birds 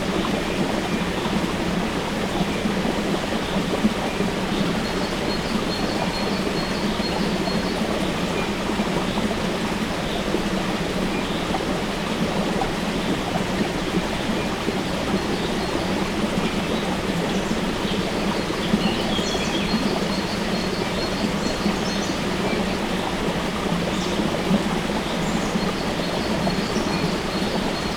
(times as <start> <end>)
13.0 27.9